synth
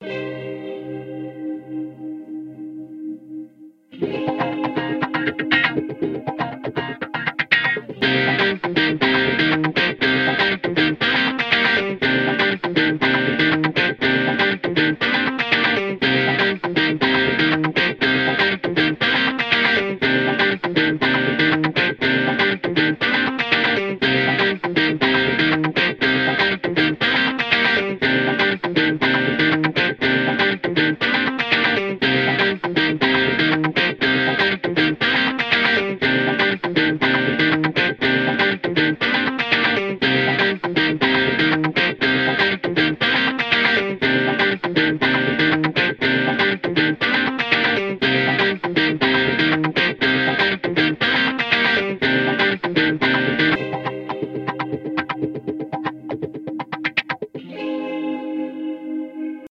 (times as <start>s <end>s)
53.6s 56.3s